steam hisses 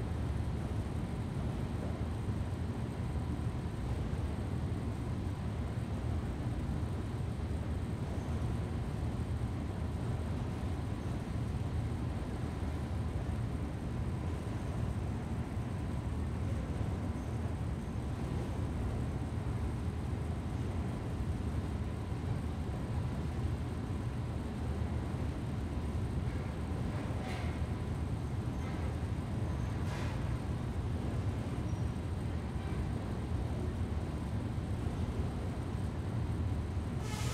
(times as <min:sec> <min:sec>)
0:37.0 0:37.3